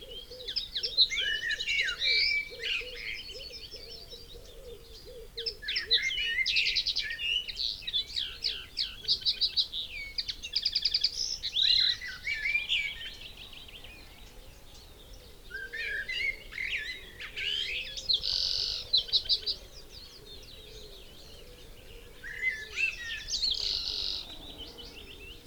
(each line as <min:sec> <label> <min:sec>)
0:00.0 background noise 0:25.4
0:00.0 blackbird 0:25.4
0:00.0 pheasant 0:25.4
0:10.0 willow warbler 0:25.4